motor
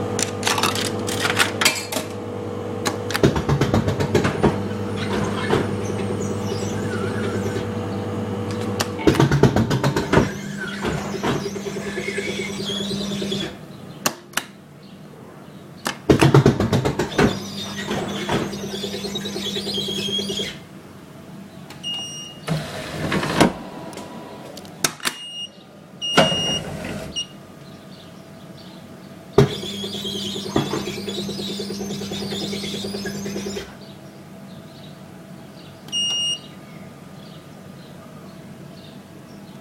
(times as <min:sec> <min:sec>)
0:00.0 0:13.6, 0:16.4 0:20.7, 0:29.4 0:33.9